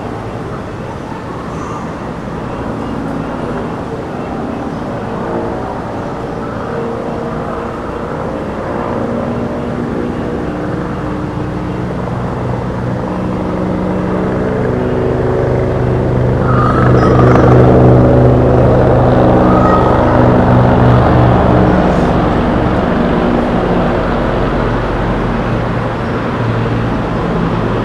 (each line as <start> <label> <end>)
0.0 helicopter flyover 27.8
13.5 Rooftop party 27.8